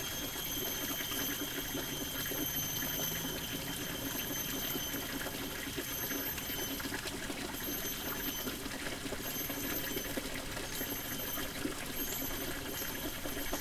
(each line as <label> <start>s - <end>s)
water stream 0.0s - 13.6s